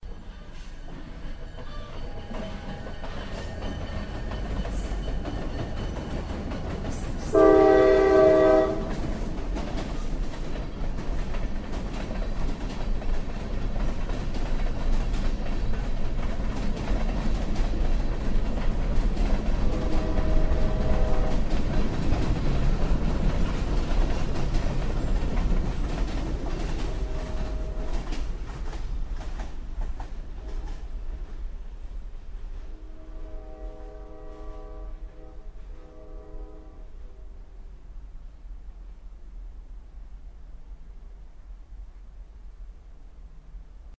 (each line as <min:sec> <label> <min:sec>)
0:00.0 Diesel locomotive moving rather slowly 0:43.9